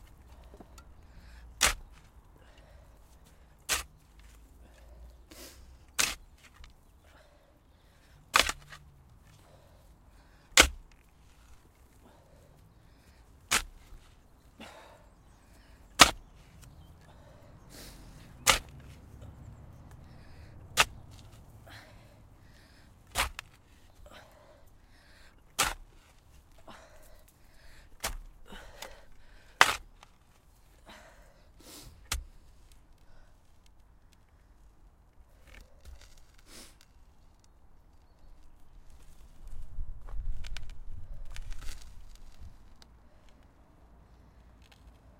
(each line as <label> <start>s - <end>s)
Continuous digging 0.0s - 45.1s
Wind 0.0s - 45.1s
breathing 0.3s - 1.6s
breathing 2.4s - 3.6s
breathing 7.0s - 8.3s
breathing 9.3s - 10.6s
breathing 11.9s - 13.4s
Birds 12.1s - 22.9s
breathing 17.0s - 18.4s
breathing 20.0s - 20.7s
breathing 21.6s - 23.0s
breathing 24.0s - 25.4s
breathing 26.6s - 29.6s
breathing 30.8s - 32.0s
breathing 33.0s - 33.4s